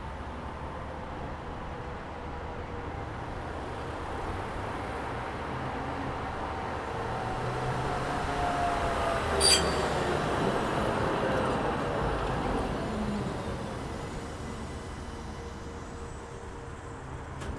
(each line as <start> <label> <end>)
7.5 Night-trams 17.5